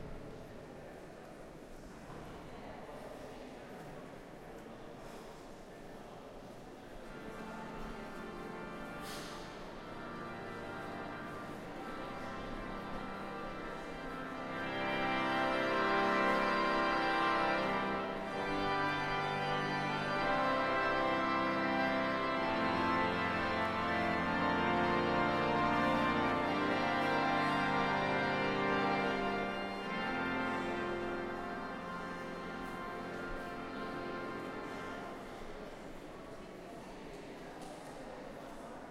Tourist Noise 0:00.0 - 0:38.9
Organ 0:07.1 - 0:35.3

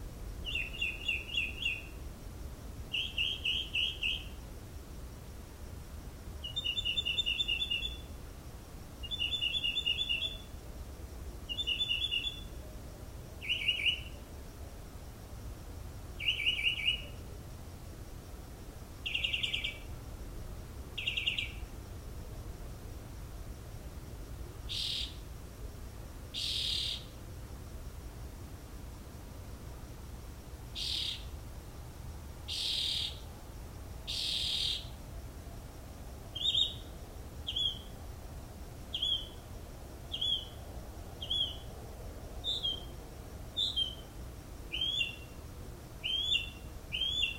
bird 0:00.4 - 0:02.0
bird 0:02.9 - 0:04.4
bird 0:06.4 - 0:08.1
bird 0:09.0 - 0:10.5
bird 0:11.5 - 0:12.5
bird 0:13.4 - 0:14.2
bird 0:16.2 - 0:17.2
bird 0:19.1 - 0:19.9
bird 0:21.0 - 0:21.6
bird 0:24.7 - 0:25.2
bird 0:26.4 - 0:27.1
bird 0:30.8 - 0:31.3
bird 0:32.5 - 0:33.2
bird 0:34.1 - 0:34.9
bird 0:36.4 - 0:36.9
bird 0:37.5 - 0:37.9
bird 0:38.9 - 0:39.4
bird 0:40.1 - 0:40.6
bird 0:41.2 - 0:41.7
bird 0:42.4 - 0:42.9
bird 0:43.6 - 0:44.0
bird 0:44.7 - 0:45.4
bird 0:46.0 - 0:47.3

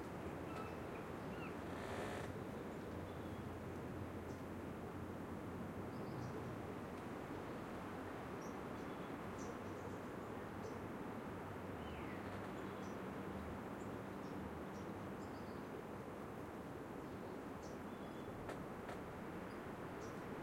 wind 0:00.0 - 0:20.4
birdsong 0:00.4 - 0:03.5

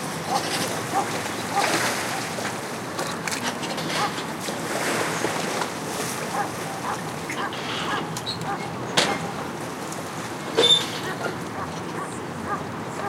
rumble of traffic 0:00.0 - 0:13.0
waves 0:00.0 - 0:13.0
barking dog 0:11.2 - 0:13.0

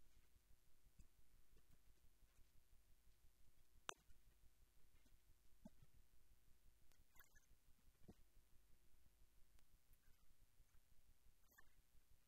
water 0:03.8 - 0:12.2

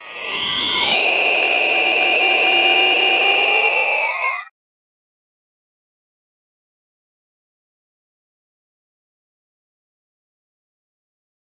Monster Scream 0:00.0 - 0:04.5

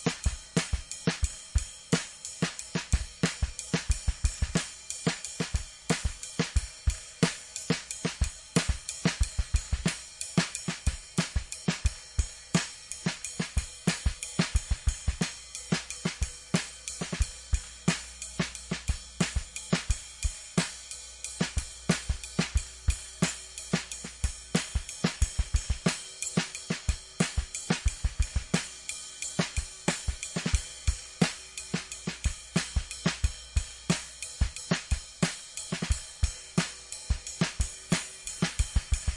drum 0:00.0 - 0:39.1

